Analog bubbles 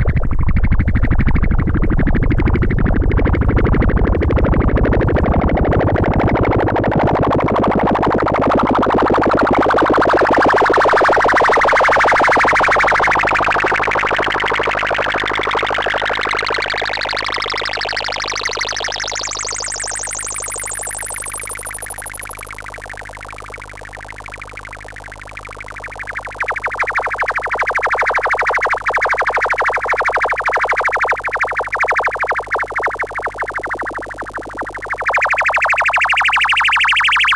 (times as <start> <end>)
15.8 37.3